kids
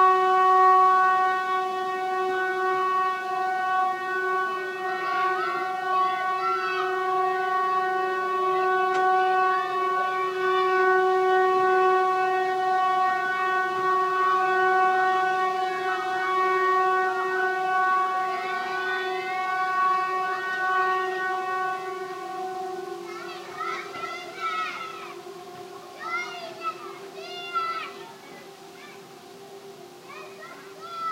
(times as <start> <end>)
22.8 31.1